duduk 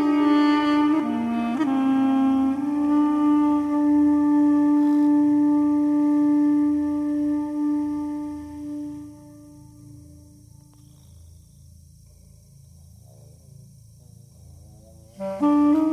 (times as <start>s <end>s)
0.0s 10.3s, 15.2s 15.9s